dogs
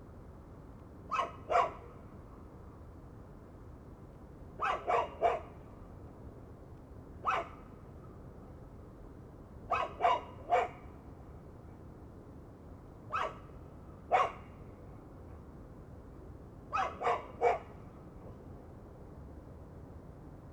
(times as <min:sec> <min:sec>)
0:01.1 0:01.9, 0:04.6 0:05.6, 0:07.2 0:07.6, 0:09.7 0:10.8, 0:13.1 0:13.5, 0:14.1 0:14.5, 0:16.7 0:17.8